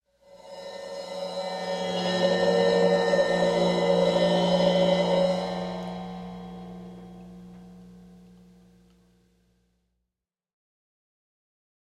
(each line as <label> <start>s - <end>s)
cymbal swell 0.2s - 9.2s